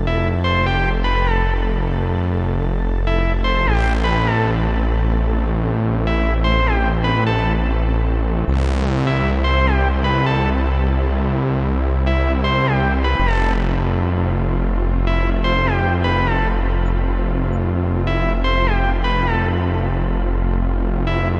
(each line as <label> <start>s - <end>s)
synth 0.0s - 21.3s